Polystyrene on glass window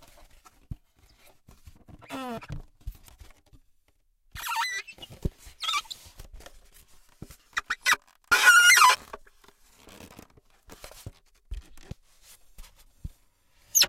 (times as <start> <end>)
7.6 10.4